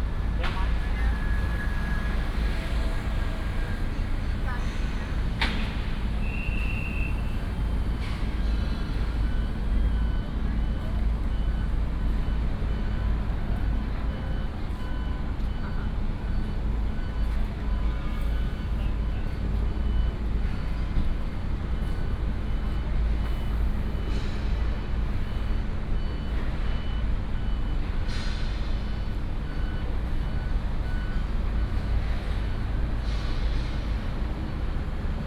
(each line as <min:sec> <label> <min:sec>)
0:00.0 Traffic sound 0:35.2